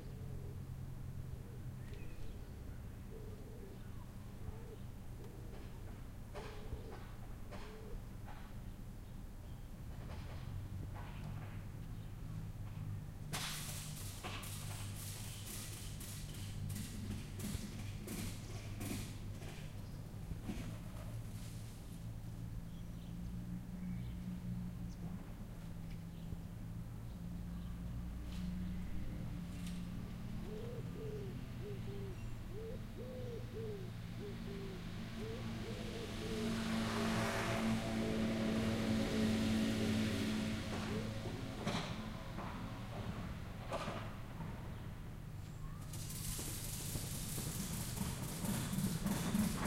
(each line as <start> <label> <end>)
0.0 birds (pigeons) 8.5
9.7 passing by cars 49.6
10.0 motorbikes 49.6
13.4 Securing cargo (doing up belts) 19.7
29.9 birds (pigeons) 37.0
45.9 Securing cargo (doing up belts) 49.6